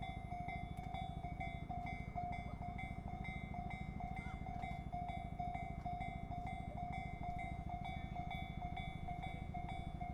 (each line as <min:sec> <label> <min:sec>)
0:00.0 Railroad crossing 0:10.1